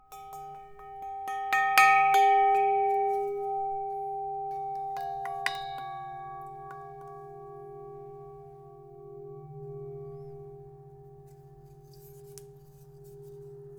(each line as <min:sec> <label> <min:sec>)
0:00.0 tink 0:08.8